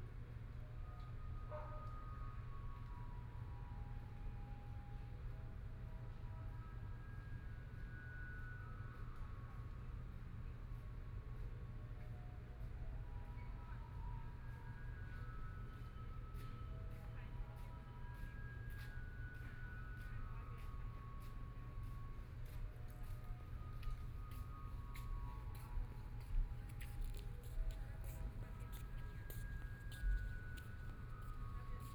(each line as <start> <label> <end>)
22.8 People walking 31.9